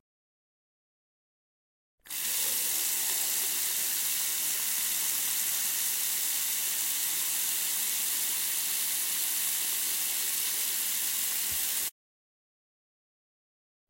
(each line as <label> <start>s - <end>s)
water tap 2.1s - 11.9s